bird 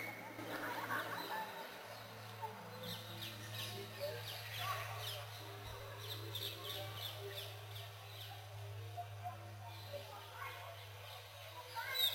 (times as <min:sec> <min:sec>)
0:09.7 0:12.1